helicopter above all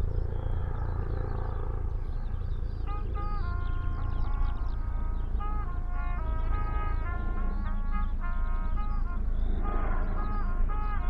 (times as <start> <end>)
0.0 5.0